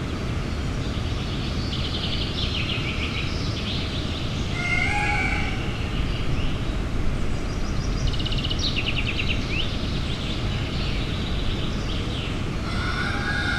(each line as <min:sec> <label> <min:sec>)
0:04.5 poultry farm 0:06.0
0:04.6 rooster 0:05.6
0:12.0 poultry farm 0:13.5
0:12.6 rooster 0:13.5